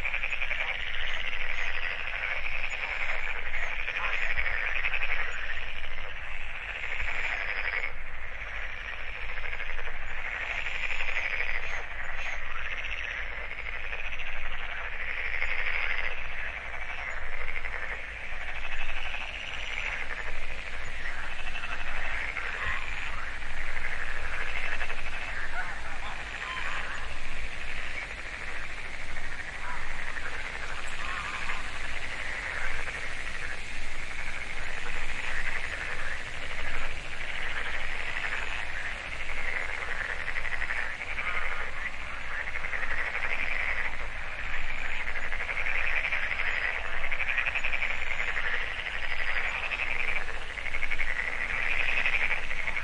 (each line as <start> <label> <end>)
0.0 frogs 52.8
0.0 geese 52.8
0.0 insects 52.8